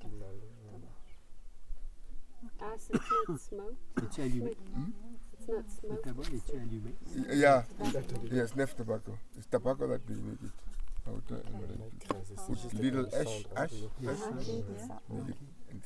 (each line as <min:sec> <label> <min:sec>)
0:02.4 greeting her 0:10.4
0:02.5 guide translates for us chief's questions 0:15.8
0:12.2 greeting her 0:15.8